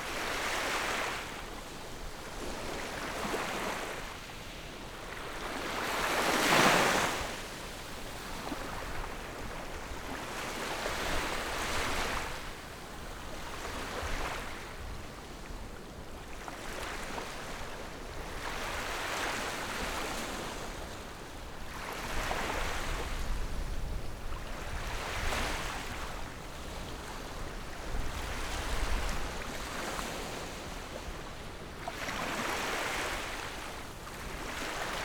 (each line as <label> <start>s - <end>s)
waves 0.0s - 35.0s